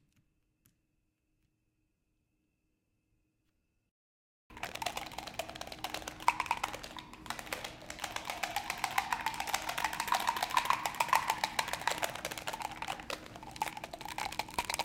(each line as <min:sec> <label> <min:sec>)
0:04.5 plastic pill bottle being shook and twisted 0:14.8
0:04.6 Continuous clicking from turning a removable screwdriver head 0:14.8